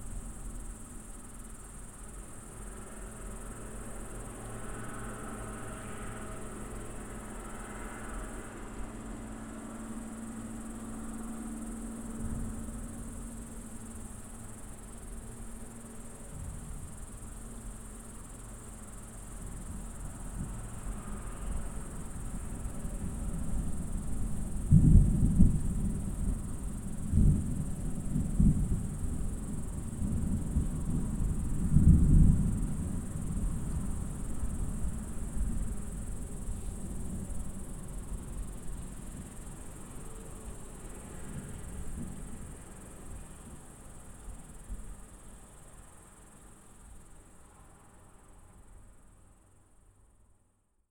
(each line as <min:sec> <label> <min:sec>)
0:23.0 rolling thunder of an impending storm 0:35.9